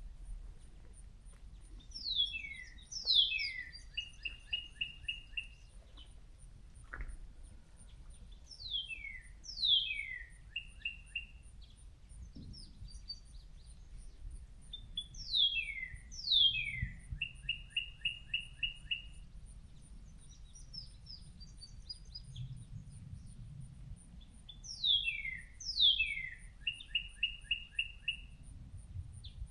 nearby birds 0.0 - 22.6

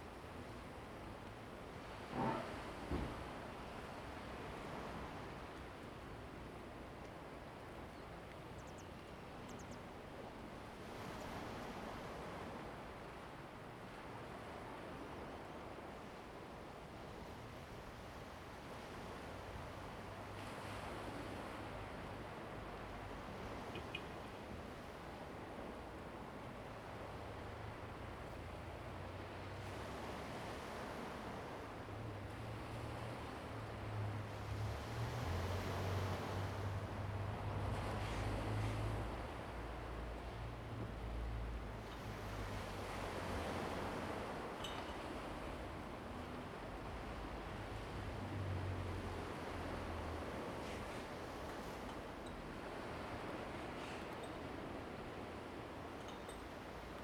waves 0.0 - 57.0

